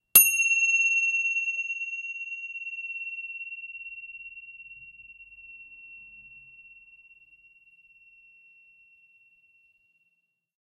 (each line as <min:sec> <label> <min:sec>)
0:00.1 Tibetan Bell - Chime 02 0:09.8